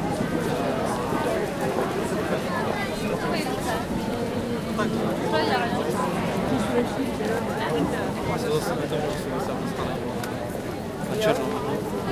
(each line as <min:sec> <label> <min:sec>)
0:02.5 conversation 0:10.3